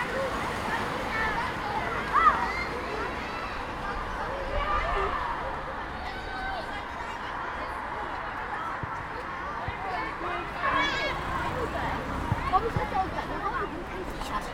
0.0s Children right from the microphone in the schoolyard 14.5s
0.0s cars left from the microphone 14.5s

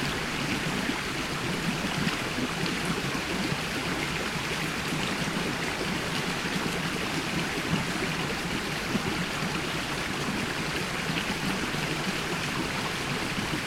0.0s little river running into the biggest lithuanian river 13.6s

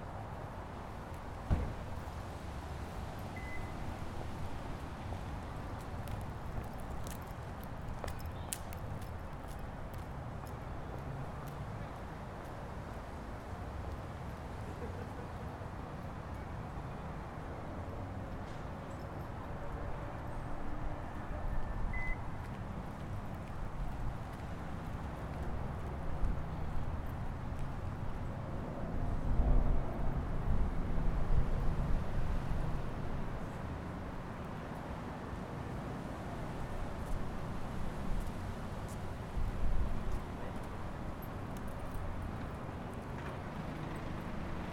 0.0s cars 44.7s
3.4s people walking by 28.2s
36.5s people walking by 44.7s

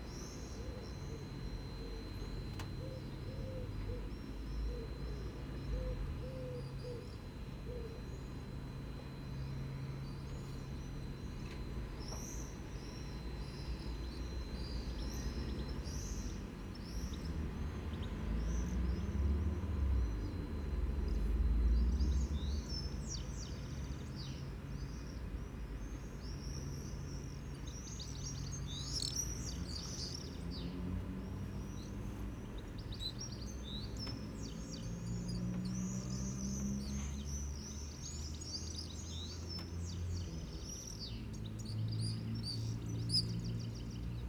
0.0s distant pigeons coo 23.7s
0.0s Traffic 44.2s
25.7s goldfinch sings 44.2s

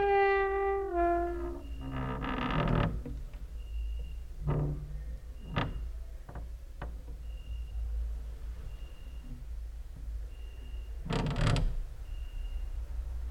0.0s creaking with wooden doors 7.8s
8.7s creaking with wooden doors 12.4s

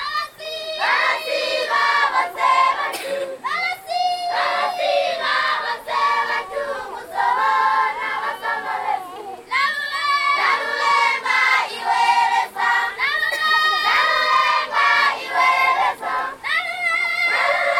0.0s national anthem 17.7s

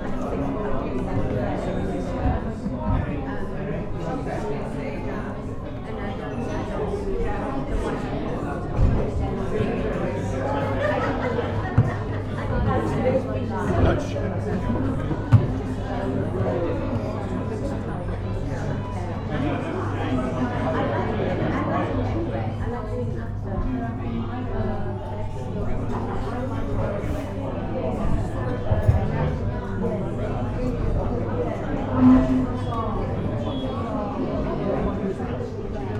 0.0s Happy customers in a busy cafe 35.9s

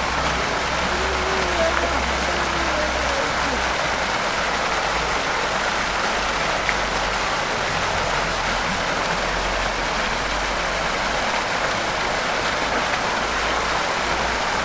0.0s niños 3.9s

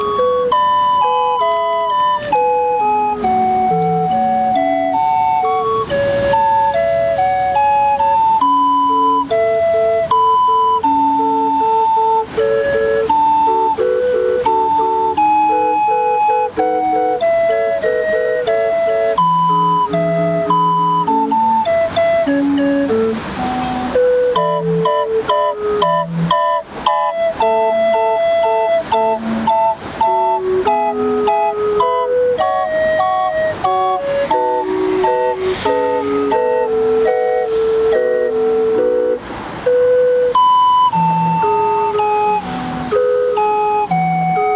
0.0s organ grinder played 44.5s

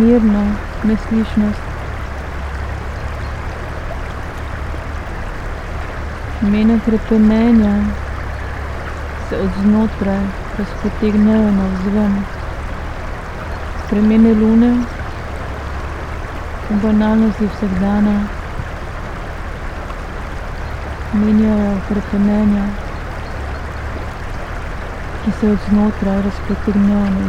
0.0s excavator on opposite riverbank 27.2s
0.0s river 27.2s

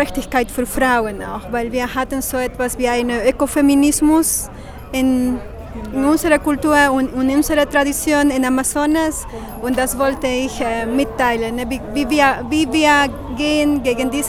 0.0s spontaneous live interview 14.2s

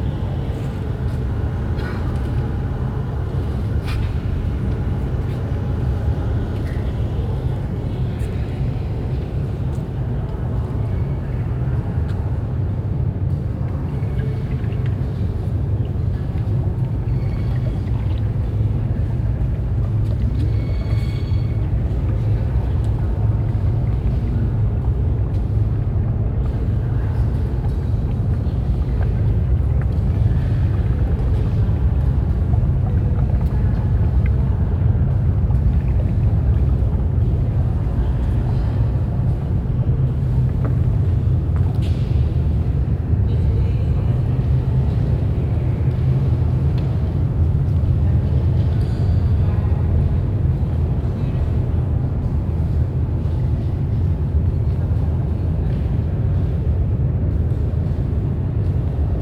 0.0s voices of visitors 59.2s

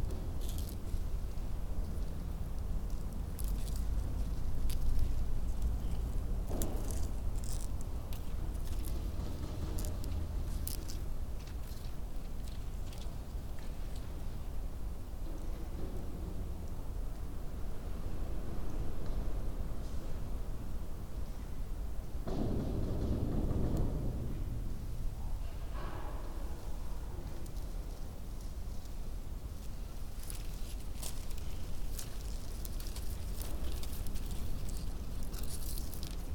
0.0s heavy doors that hang in their frames 20.0s
0.0s wind rips right through the space 36.3s
22.0s heavy doors that hang in their frames 30.1s
27.4s Discarded VHS tape fluttering in the wind 36.3s

